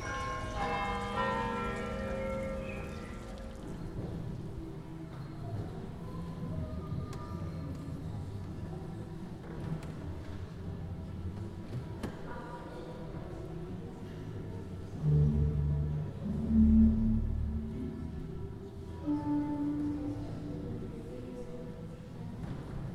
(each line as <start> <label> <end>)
0.0 nature noises 4.1
0.0 city sounds 5.3